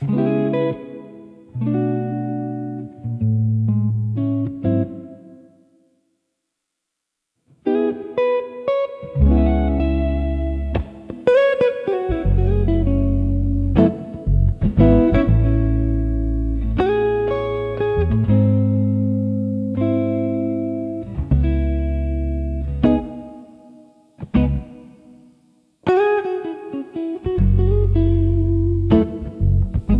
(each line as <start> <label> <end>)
0.0 Archtop Jazz Guitar Solo 5.5
7.5 Archtop Jazz Guitar Solo 29.9